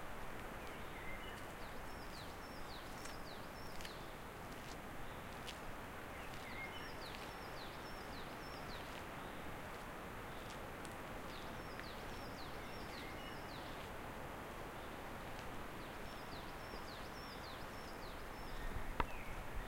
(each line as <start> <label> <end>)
0.0 wind 19.6
0.4 birds 19.6